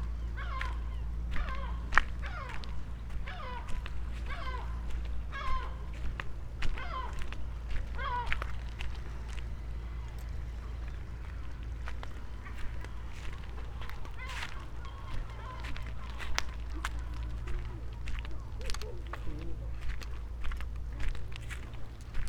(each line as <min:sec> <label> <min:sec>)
0:00.0 seagulls 0:22.2
0:05.9 bicycle 0:22.2